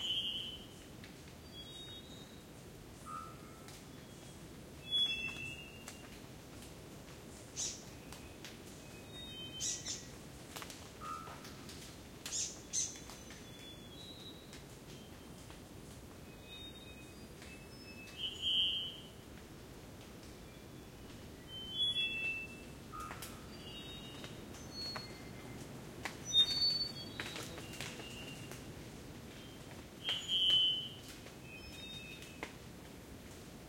0.0s rain 33.6s
0.0s wind 33.6s
4.0s birds 6.2s
26.2s birds 28.7s

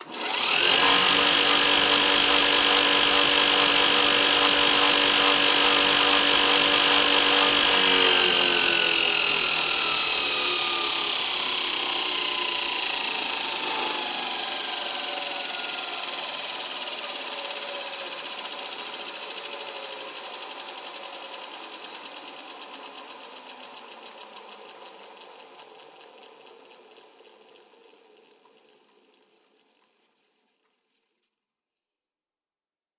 0.0s belt grinder 24.3s

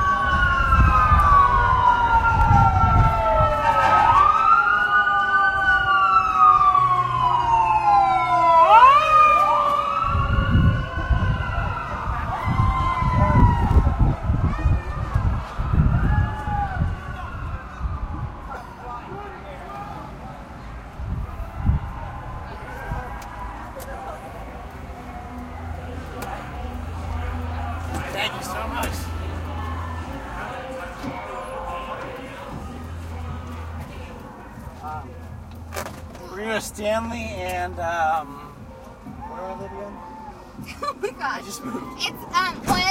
0.0s wind noise 4.6s
7.9s cheering 19.9s
10.0s wind noise 18.6s
20.8s wind noise 23.2s

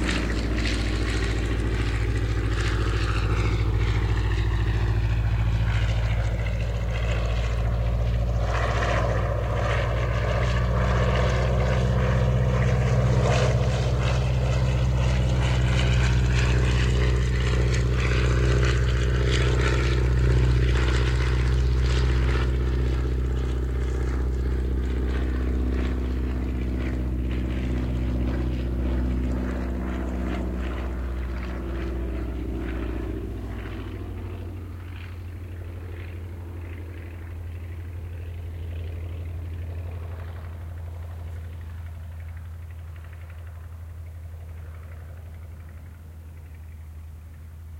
0.0s old propeller aircfaft 47.7s

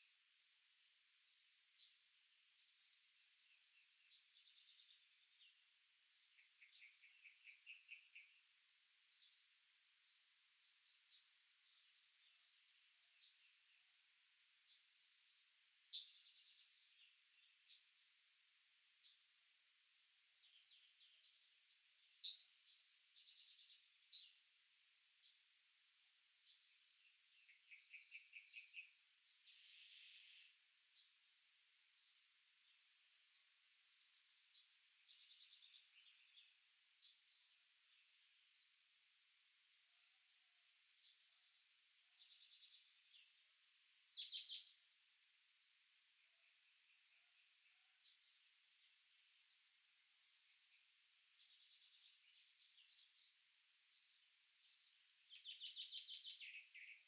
0.0s Birds 57.0s

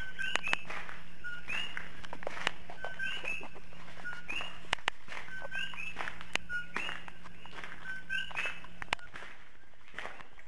0.0s footsteps walking 10.4s

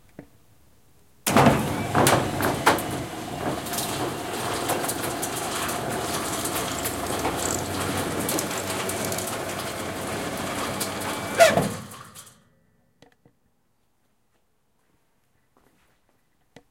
1.3s squeeky garage door opening up 12.4s

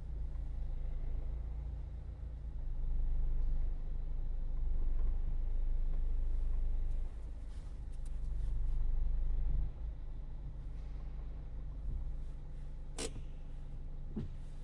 3.4s Sound from inside the car 14.6s
5.9s open the windows 14.6s

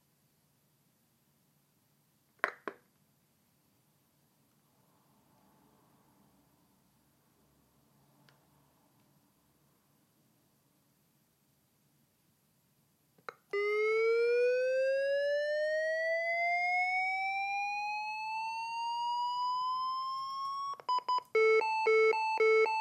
20.1s Beeps 22.8s

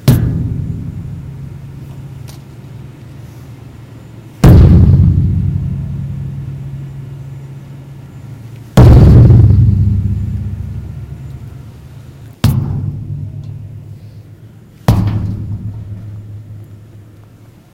0.0s Dumpster Kicking 2.6s
4.4s Dumpster Kicking 7.2s
8.8s Dumpster Kicking 11.8s
12.4s Dumpster Kicking 14.2s
14.8s Dumpster Kicking 17.1s

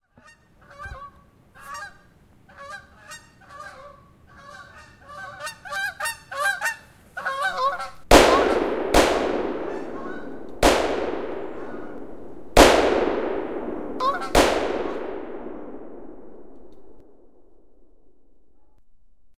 0.0s goose 8.6s

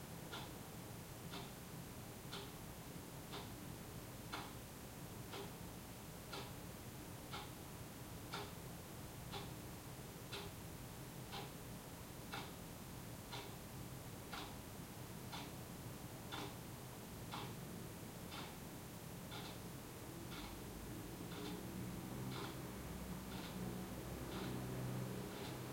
0.0s soft city noises 25.7s
0.2s clock is ticking 0.6s
1.2s clock is ticking 25.7s
20.2s sporadic traffic 25.7s

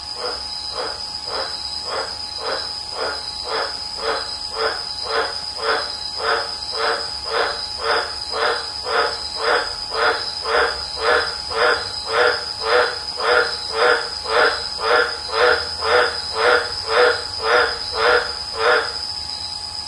0.0s frog 19.8s

